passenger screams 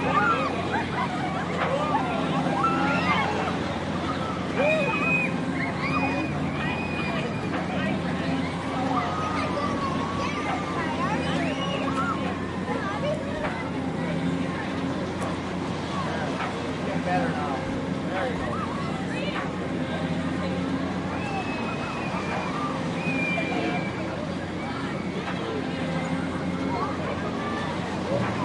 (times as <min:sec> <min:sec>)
0:00.0 0:12.6, 0:21.0 0:25.3